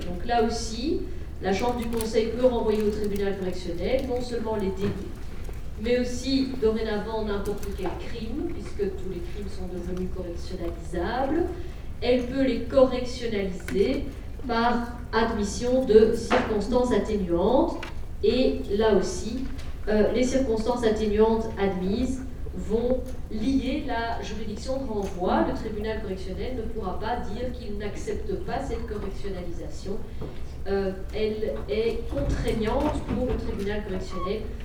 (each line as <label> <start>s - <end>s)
course of legal matters 0.0s - 34.6s